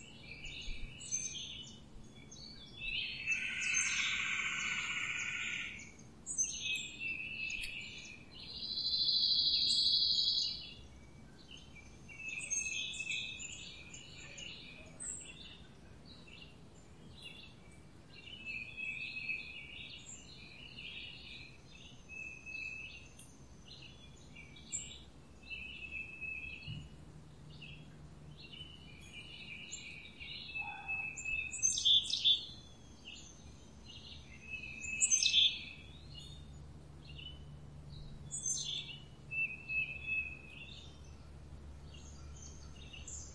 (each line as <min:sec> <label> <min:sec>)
0:00.0 birdsong 0:43.3